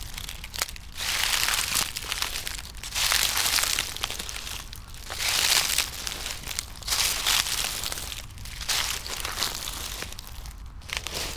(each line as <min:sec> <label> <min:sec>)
0:00.0 dry leaves 0:11.3
0:00.0 walking 0:11.3